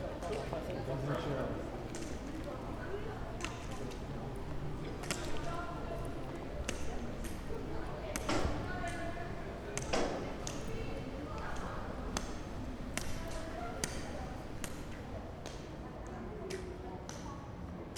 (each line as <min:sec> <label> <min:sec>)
0:00.0 walk with one of the walking sticks 0:15.7
0:00.0 crowd 0:17.9